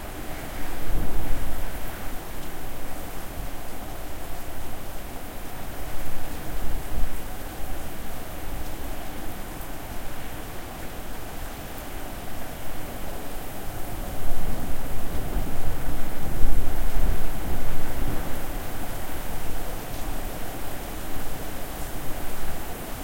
rain 0.0 - 23.0
wind 0.0 - 23.0

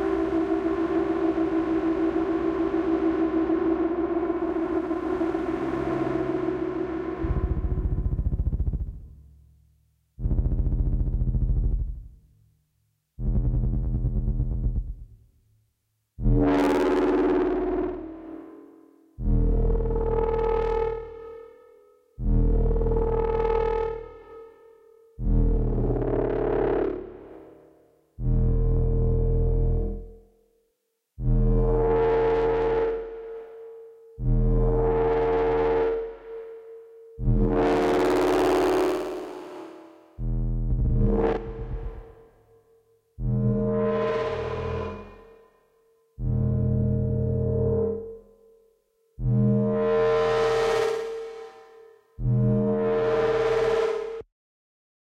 drones 0.0 - 9.4
drones 25.2 - 27.6
drones 34.2 - 45.4
drones 46.2 - 48.2

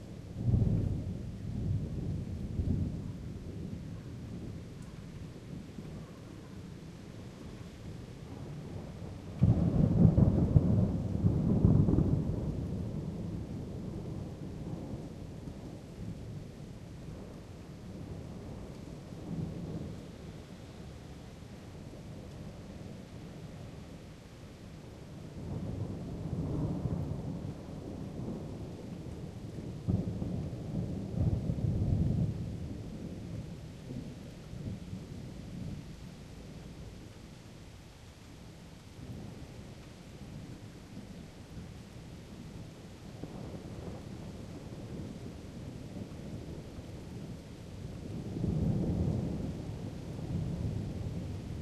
rain 0.0 - 51.6
thunder 0.3 - 16.5
thunder 25.2 - 36.6
thunder 43.1 - 51.6

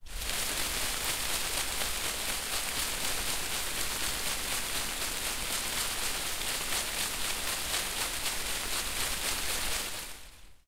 shaking a small quince tree 0.0 - 10.6

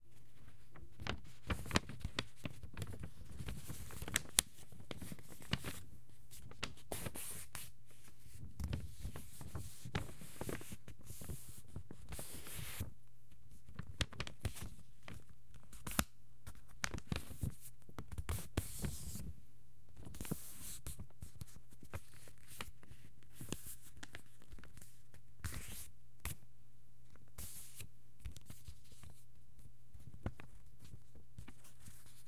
rumpling paper 0.2 - 7.5

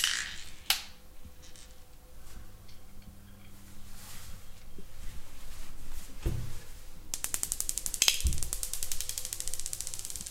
Rolling of marbles on tile floor 0.0 - 0.7
Rolling of marbles on tile floor 7.2 - 10.3

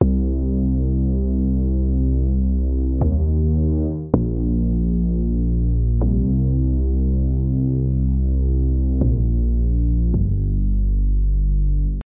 electronic backing bass 0.0 - 12.0

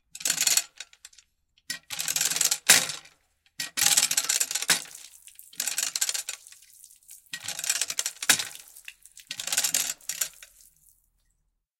manual water pump 3.7 - 11.0

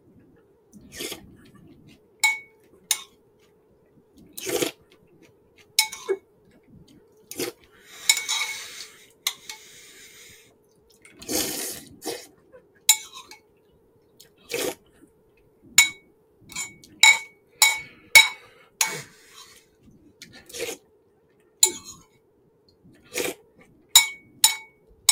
Eating slurping borscht soup 0.7 - 2.0
Eating slurping borscht soup 4.2 - 13.4
Eating slurping borscht soup 14.2 - 15.0
Eating slurping borscht soup 18.2 - 20.9
Eating slurping borscht soup 22.9 - 23.7

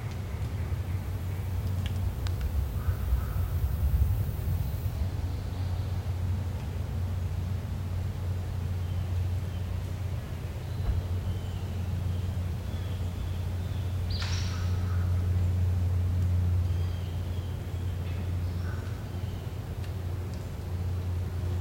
droning plane 0.0 - 21.6
insect chorus ebbs and flows 0.3 - 6.4

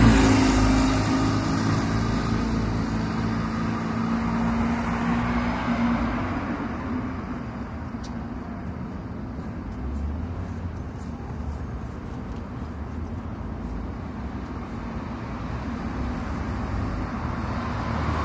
Truck 0.0 - 18.2
traffic 0.0 - 18.2

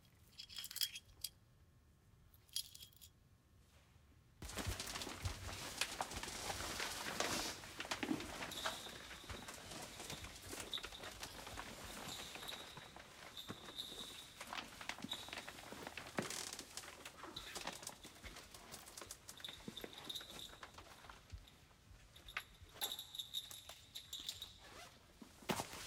clinking of belts and dogtags 0.0 - 1.4
clinking of belts and dogtags 2.4 - 3.1
rustling 3.7 - 23.1
clinking of belts and dogtags 6.8 - 25.0

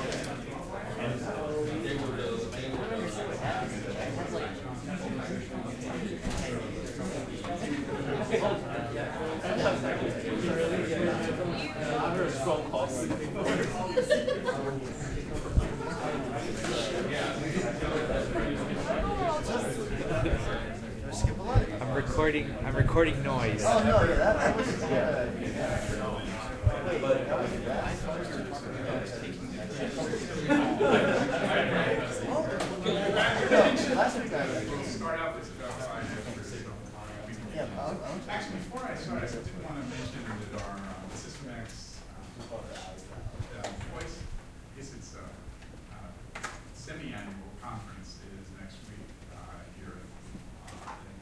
people talking 0.0 - 46.2
people talking 46.8 - 51.2

